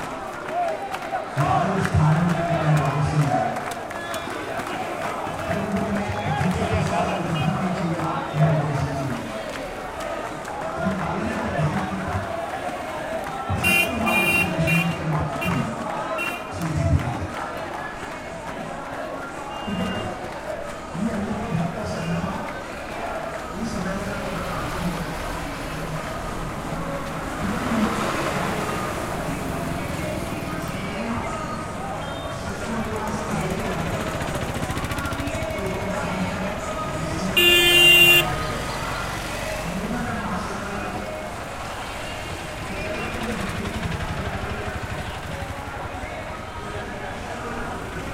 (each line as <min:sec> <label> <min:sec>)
0:00.0 chant 0:48.1